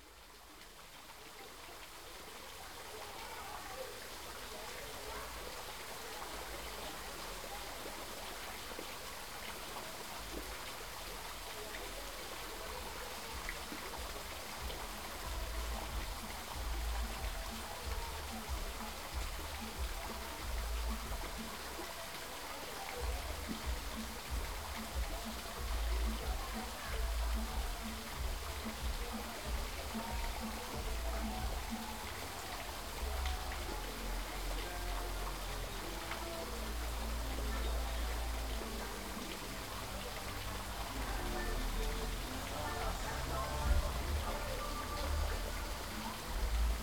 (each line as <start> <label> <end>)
0.0 fountain 46.8